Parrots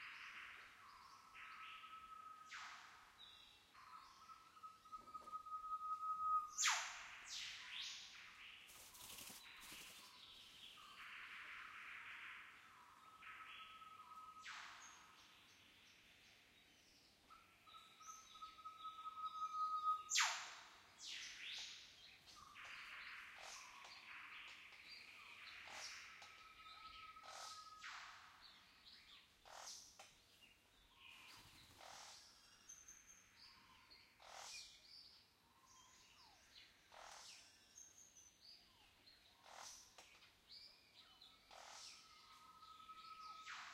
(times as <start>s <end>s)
25.6s 28.2s, 29.4s 30.1s, 31.2s 32.5s, 33.5s 34.8s, 35.7s 37.6s, 38.7s 40.3s, 41.4s 43.7s